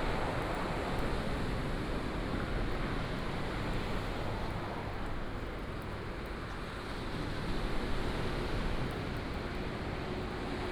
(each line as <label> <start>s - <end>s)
waves 6.6s - 10.7s